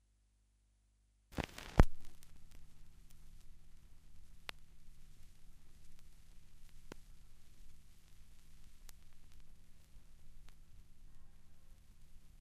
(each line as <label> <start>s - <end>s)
Record needle (stylus) lands on the record (LP) 1.3s - 2.2s
rumbles and clicks at the start of a record 1.3s - 12.4s